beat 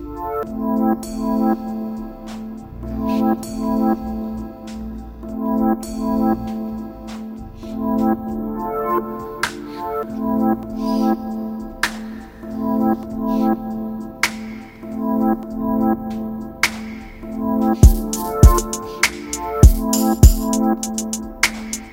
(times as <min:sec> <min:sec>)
0:17.8 0:21.9